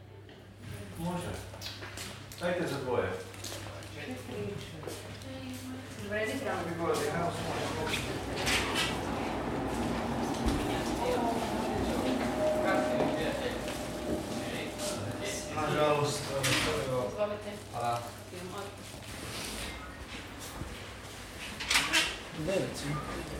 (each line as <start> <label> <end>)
7.4 funicular 17.1